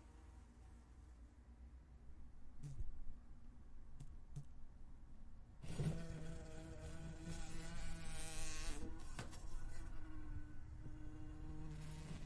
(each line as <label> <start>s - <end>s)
wasp buzzing around 5.6s - 12.2s